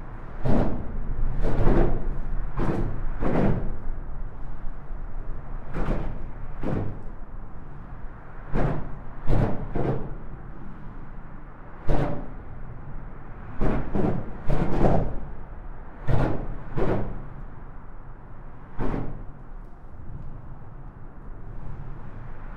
0.0s trafic of cars and lorries 22.5s

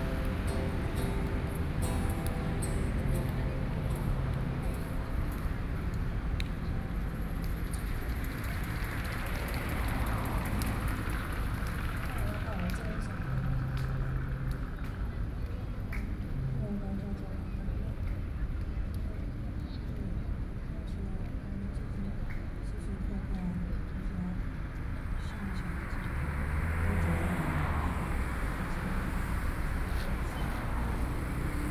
0.0s music 6.8s
0.0s traffic noise 31.7s
13.0s music 18.6s

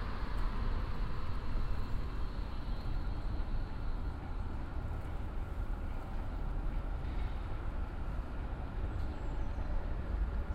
0.0s train driving out of the tunnel 10.5s

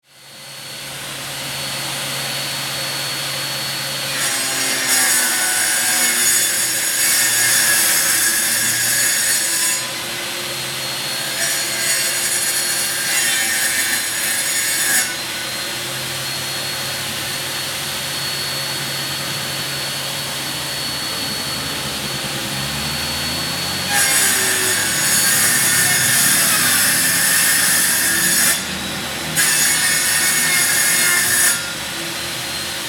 0.4s Chainsaw 32.8s

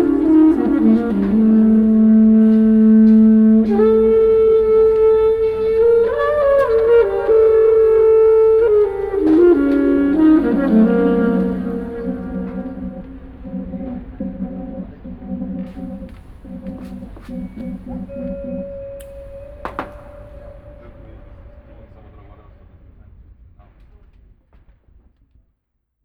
0.0s playing the trumpet 14.2s
0.0s different instrument sounds 21.7s
0.0s Technicians talking 22.7s
0.0s distant audience movements 24.2s
15.7s playing the trumpet 22.0s

